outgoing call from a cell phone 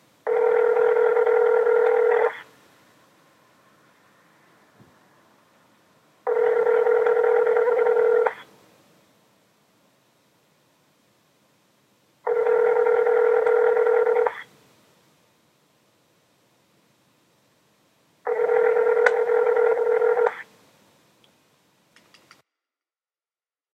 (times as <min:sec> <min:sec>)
0:00.3 0:02.5, 0:06.2 0:08.5, 0:12.2 0:14.5, 0:18.2 0:20.4